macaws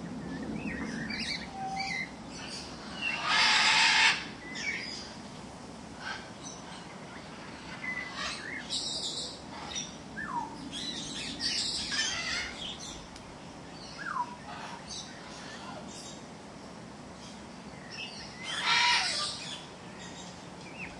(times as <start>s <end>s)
1.2s 5.0s, 6.0s 12.9s, 14.0s 16.2s, 18.4s 19.7s